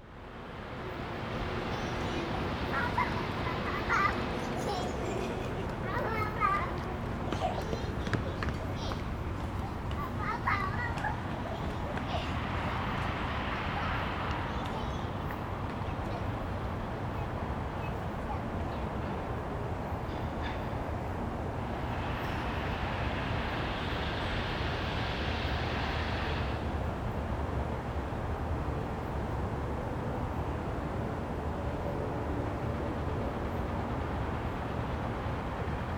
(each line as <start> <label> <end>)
0.0 Traffic noise 35.9
0.1 Construction noise 27.3
0.1 Visitor 28.2
29.8 Visitor 35.9
31.2 Construction noise 35.9